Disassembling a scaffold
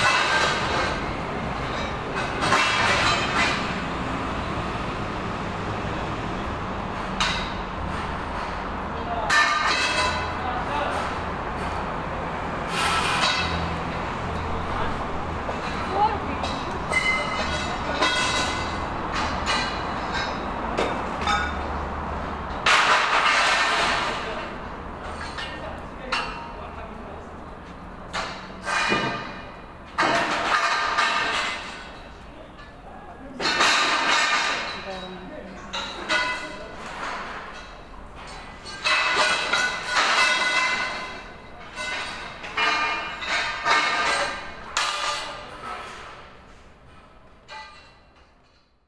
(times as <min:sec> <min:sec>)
0:00.0 0:03.8, 0:09.3 0:11.8, 0:12.7 0:14.6, 0:15.4 0:21.7, 0:22.5 0:26.6, 0:27.6 0:32.7, 0:33.4 0:48.8